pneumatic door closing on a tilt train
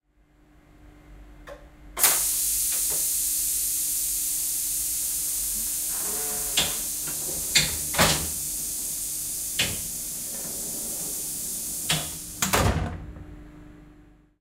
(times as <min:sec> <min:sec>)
0:02.0 0:13.2